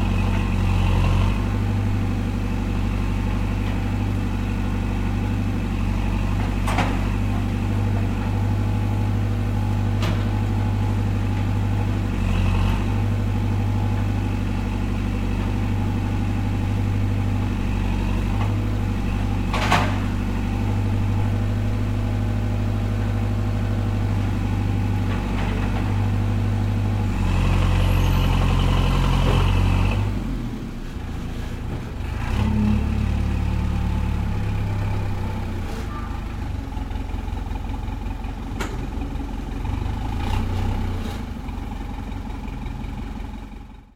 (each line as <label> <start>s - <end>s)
bulldozer working on the street 0.0s - 43.9s